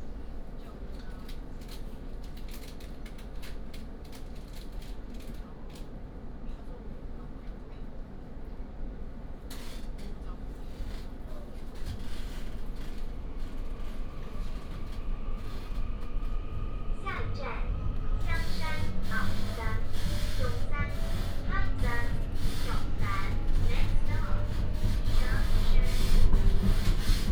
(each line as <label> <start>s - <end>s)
Union train compartment 0.0s - 27.3s